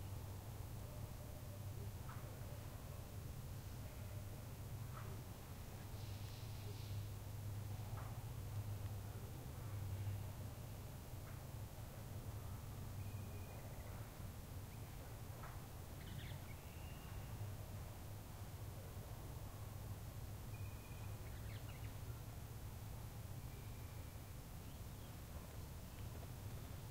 0.0s wind 26.9s
13.0s birds 17.6s
20.6s birds 22.2s

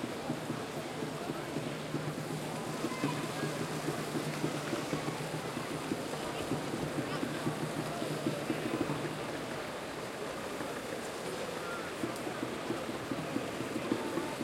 0.0s bongos 14.4s
0.0s crowd 14.4s
2.6s children 5.1s

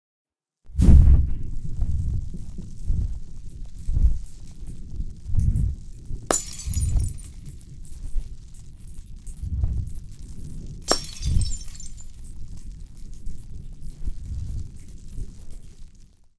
0.7s fire 16.3s
6.3s glass 7.4s
10.9s glass 12.2s

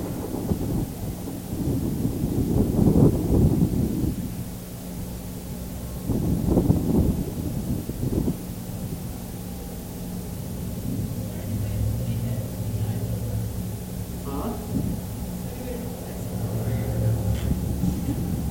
0.0s wind noise 18.5s

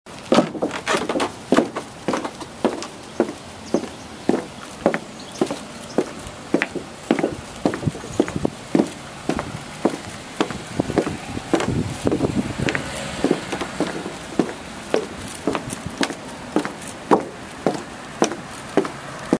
0.2s Footsteps on wooden floor 19.3s

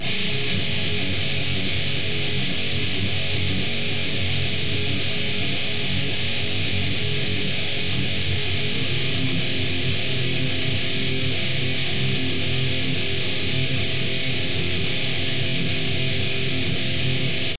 0.0s melody riff 17.5s

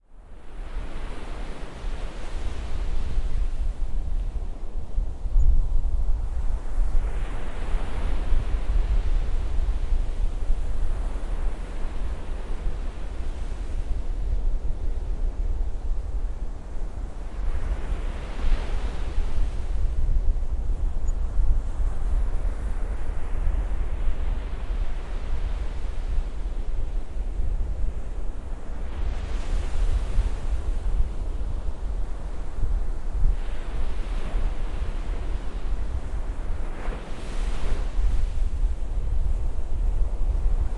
0.0s wind 40.7s
0.1s waves 40.7s

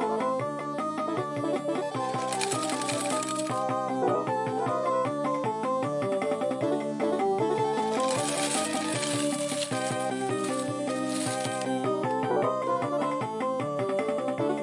1.9s General slot play on Japanese Slot Machine with payout 3.7s
7.8s General slot play on Japanese Slot Machine with payout 11.8s

